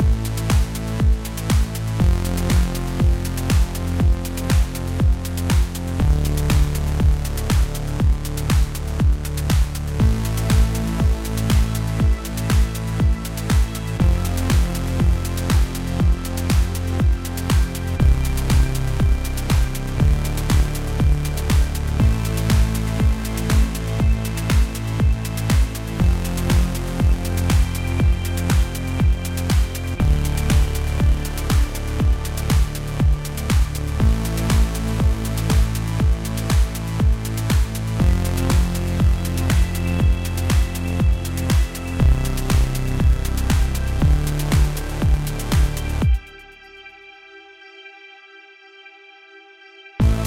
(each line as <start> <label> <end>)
0.0 Soft Techno 50.2